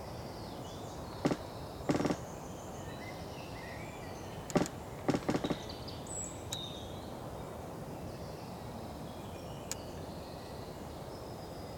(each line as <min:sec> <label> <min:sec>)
0:01.2 half fallen tree loaning on other tree 0:02.4
0:04.5 half fallen tree loaning on other tree 0:05.8